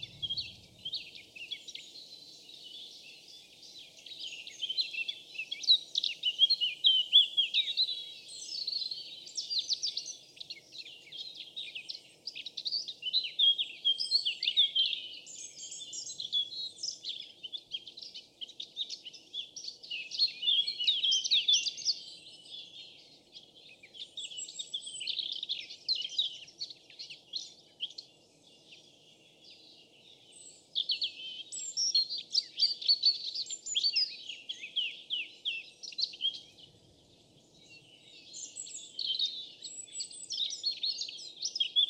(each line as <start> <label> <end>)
0.0 different birds to sing 41.8